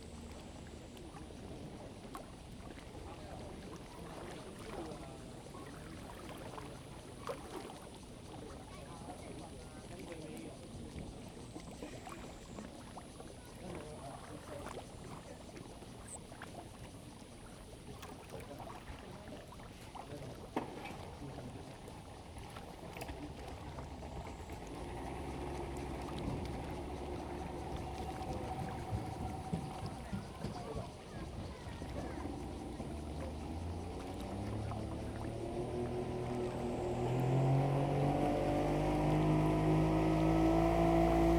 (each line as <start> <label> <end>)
0.0 Yacht 41.3
8.3 Lake voice 41.3
23.3 Tourists 41.3